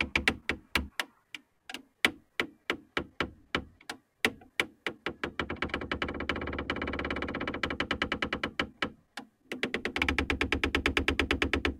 wind 0.0 - 11.7
Creaky door 5.3 - 8.8

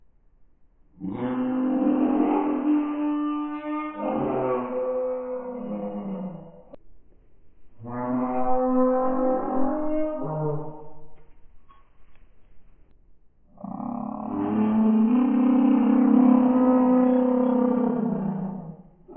growl 1.0 - 6.8
growl 13.5 - 19.1

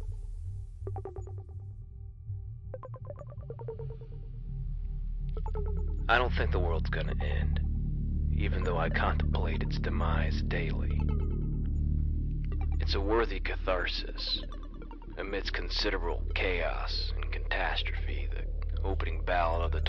music 0.0 - 19.8
poetry 6.1 - 7.6
poetry 8.4 - 11.0
poetry 12.8 - 14.4
poetry 15.2 - 19.8

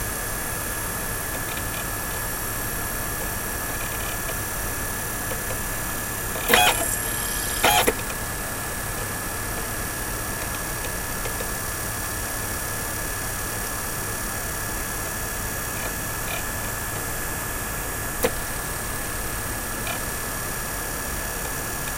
Laptop CDROM drive spins up 0.6 - 10.6

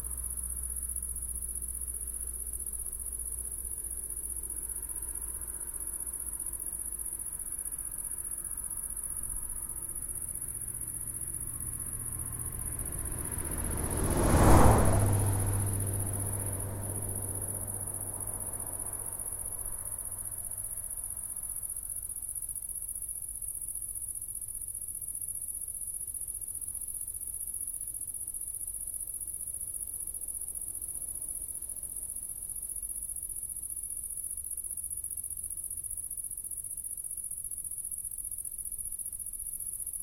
car pass 0.0 - 22.2

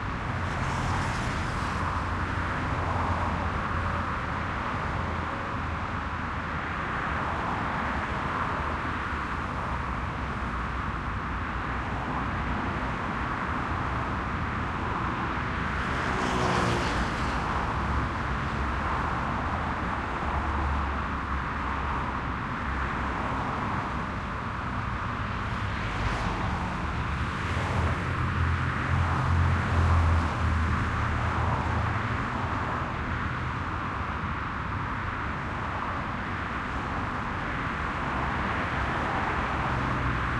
City Highway Busy 0.0 - 40.3

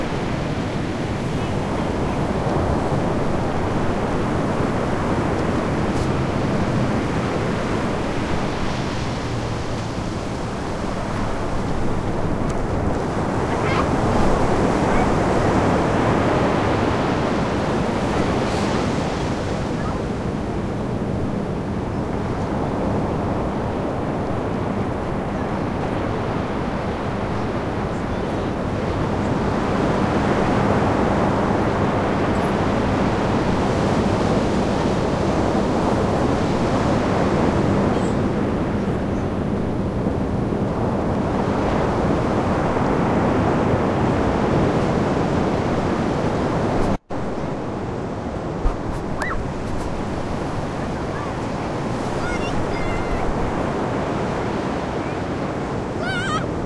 kids playing in the waves 0.0 - 56.6
waves 0.0 - 56.6

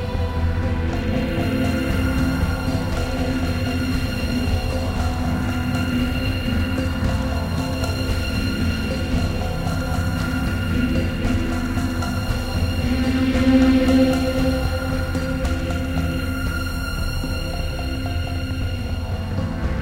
Drum Rhythms 0.0 - 19.8
Smooth strings 0.0 - 19.8
synth 0.0 - 19.8

